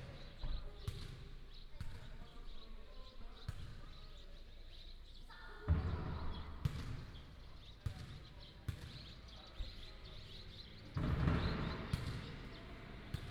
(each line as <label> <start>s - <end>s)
Birds sound 0.0s - 13.3s